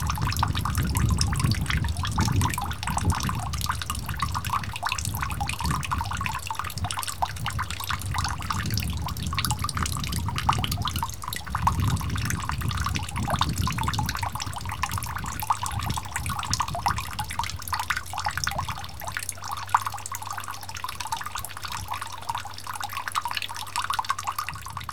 0.0s water running down from a steel barrel into a water tank 24.9s

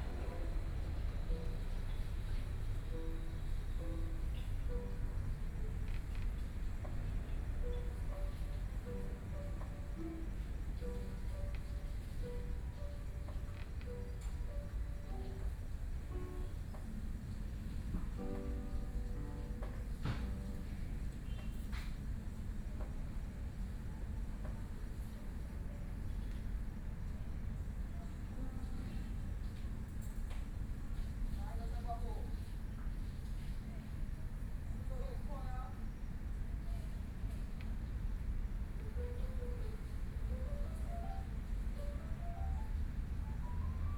0.0s Piano sound 22.4s
38.4s Piano sound 43.9s

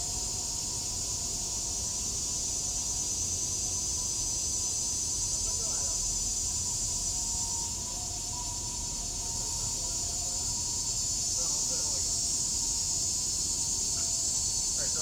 0.0s Cicada sounds 15.0s
7.4s MRT trains through 15.0s

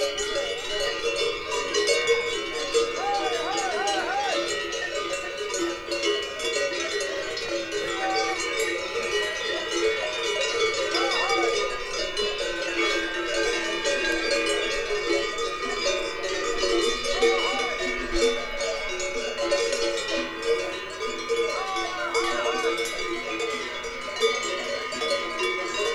0.0s Ascending cows 25.9s
0.0s cowbells 25.9s

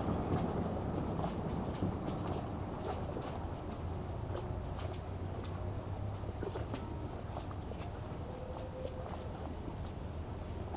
0.0s waterplane returns 10.7s
0.0s wind 10.7s
5.6s distant sunday churchbells 9.8s

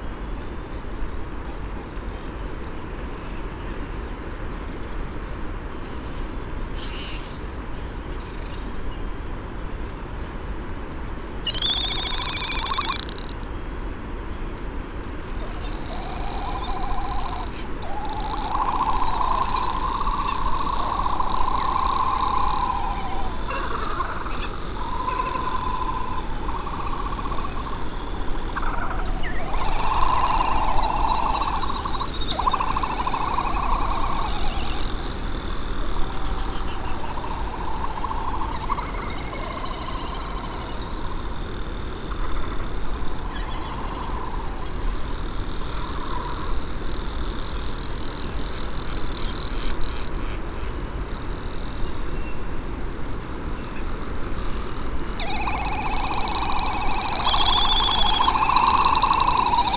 4.6s laysan albatross 8.7s
6.1s red -tailed tropic bird 9.7s
11.4s red -tailed tropic bird 13.6s
11.4s white tern 13.3s
11.4s Great frigate bird calls and 'song' 13.4s
11.4s canary 13.4s
11.4s laysan albatross 59.7s
14.6s red -tailed tropic bird 59.7s
15.0s Great frigate bird calls and 'song' 41.1s
15.2s canary 50.4s
15.3s white tern 41.6s
54.6s canary 59.7s
54.7s Great frigate bird calls and 'song' 59.7s
55.2s white tern 59.7s

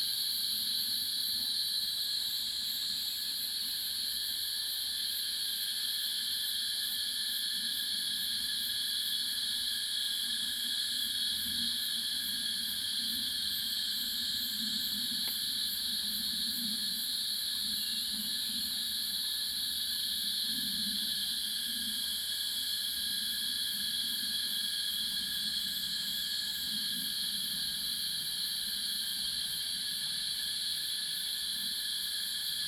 0.0s Cicadas cry 32.6s

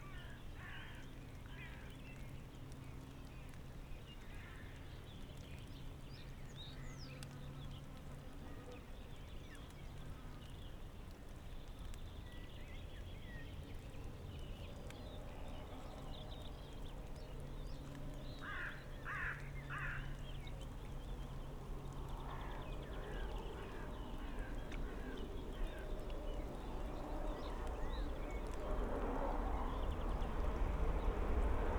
0.0s light rain 31.7s
21.2s high speed train passes in the distance 31.7s

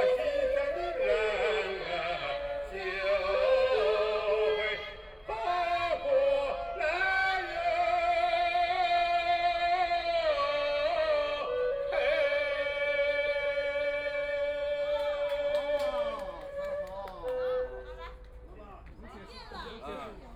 0.0s A middle-aged are singing 16.6s

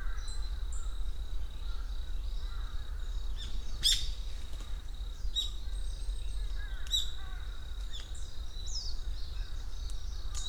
0.0s mountain crows...their caws echo among the forest 1.0s
0.0s activity of many smaller forest birds 10.4s
1.6s mountain crows...their caws echo among the forest 3.2s
6.5s mountain crows...their caws echo among the forest 7.8s

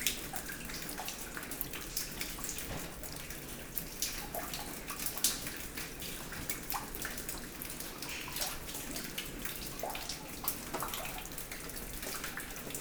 0.0s raining hard inside 12.8s

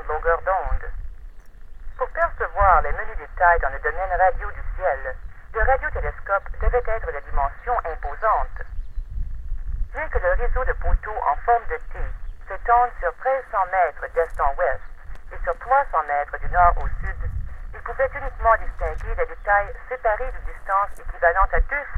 2.0s boxes that playback audio recordings in French-Canadian or English 8.6s
9.9s boxes that playback audio recordings in French-Canadian or English 21.9s

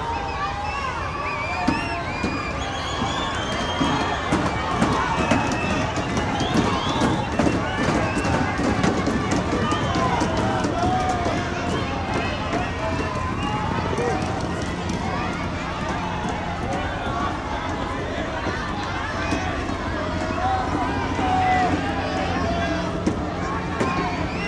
0.0s Confrontation between the crowd and the police 24.4s

